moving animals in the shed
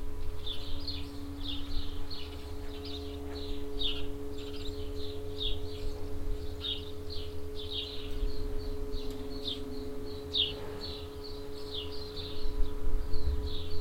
0:00.0 0:05.0, 0:07.6 0:12.3

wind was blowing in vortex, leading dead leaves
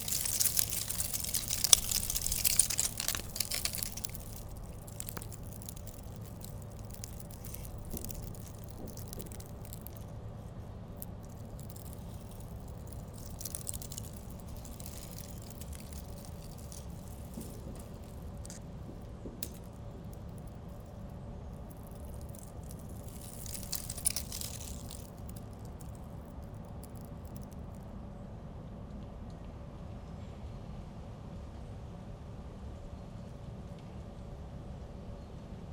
0:00.0 0:20.8

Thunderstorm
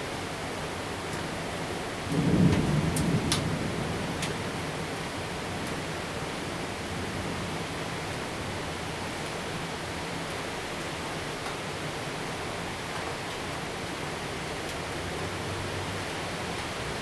0:02.0 0:05.0

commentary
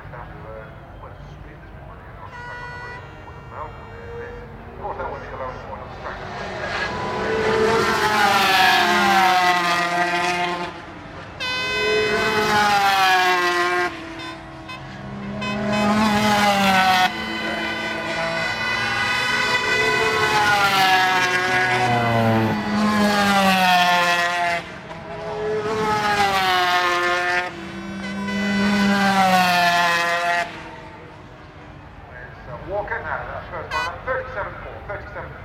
0:00.0 0:08.5, 0:32.0 0:35.4

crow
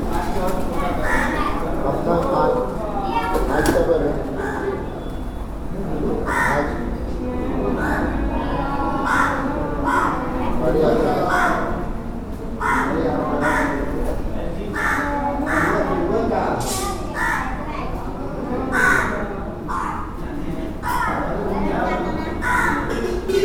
0:00.8 0:01.6, 0:06.2 0:06.8, 0:09.0 0:10.3, 0:11.1 0:11.8, 0:12.6 0:14.0, 0:14.7 0:16.0, 0:17.1 0:17.6, 0:18.7 0:20.1, 0:20.8 0:21.4, 0:22.4 0:23.2

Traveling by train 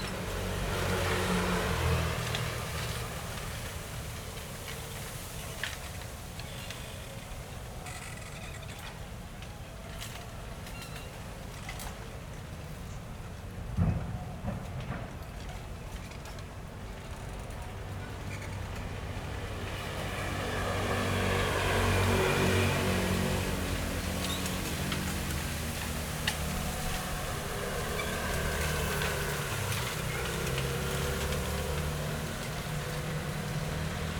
0:08.9 0:34.1

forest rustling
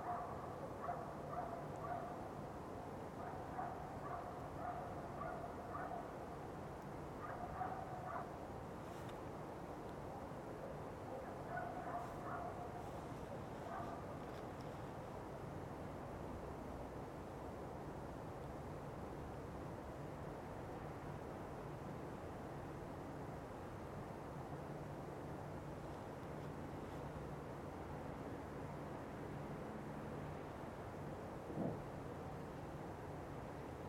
0:07.2 0:10.1, 0:11.1 0:15.6

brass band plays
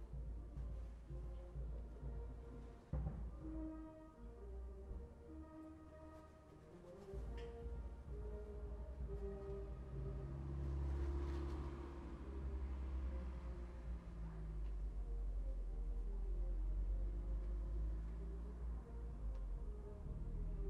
0:00.0 0:12.4

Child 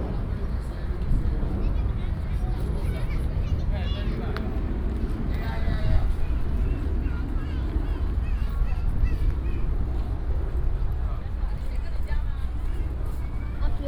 0:06.6 0:09.8

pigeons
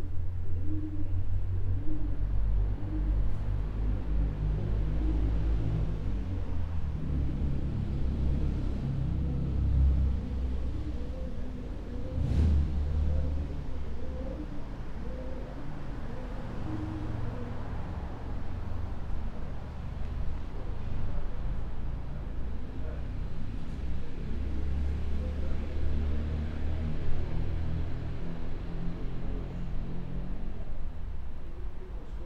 0:00.0 0:23.8

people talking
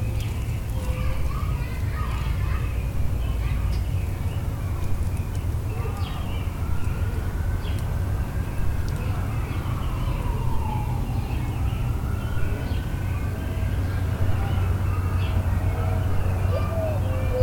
0:00.7 0:05.0, 0:08.1 0:11.8, 0:12.4 0:17.4

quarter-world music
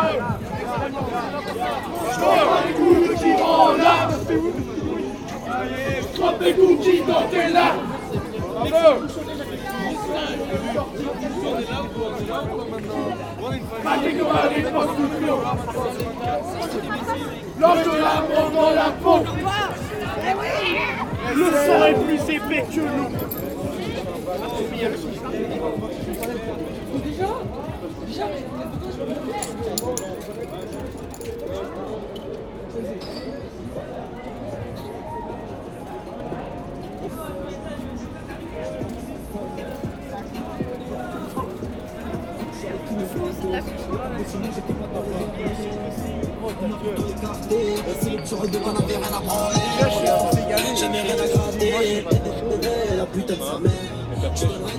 0:38.4 0:54.7

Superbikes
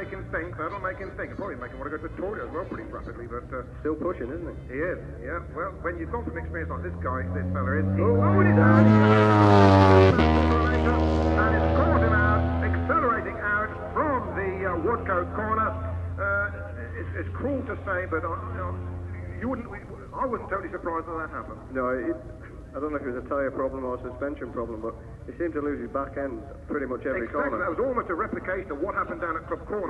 0:00.0 0:22.8

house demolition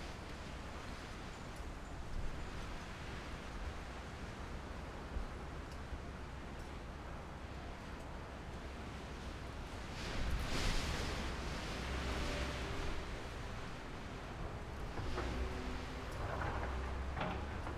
0:13.5 0:17.7

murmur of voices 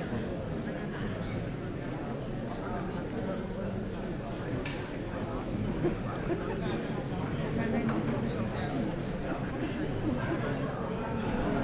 0:02.4 0:11.6

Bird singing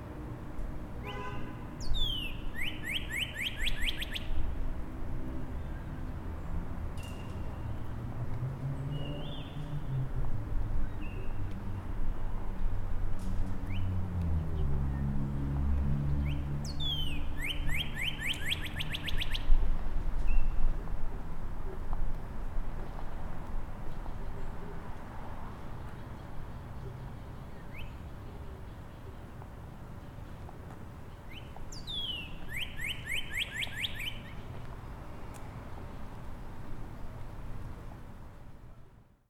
0:01.8 0:04.4, 0:08.9 0:09.8, 0:16.1 0:19.5, 0:25.9 0:29.2, 0:31.1 0:35.5

